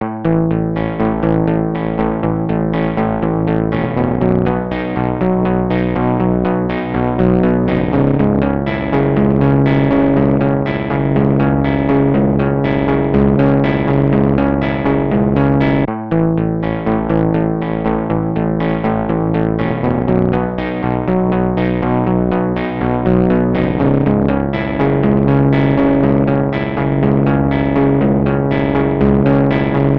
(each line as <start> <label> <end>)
0.0 Elilectric guitar distorded 29.9